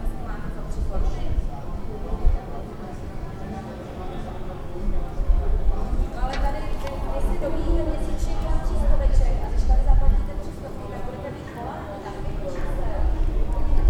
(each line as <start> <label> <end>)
0.0 voices from the open window 13.8